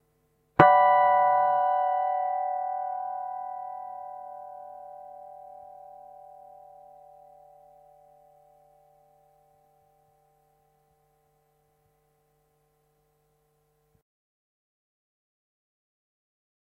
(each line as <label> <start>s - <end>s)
guitar 0.6s - 10.0s